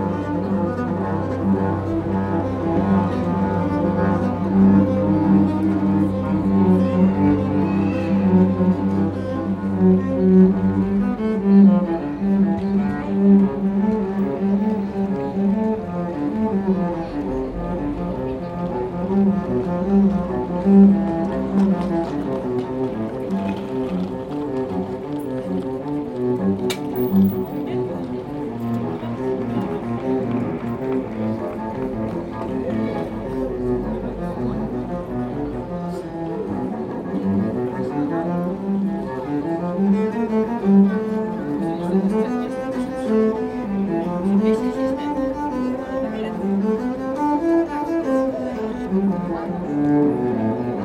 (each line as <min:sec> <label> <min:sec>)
0:00.0 Street cellist 0:50.8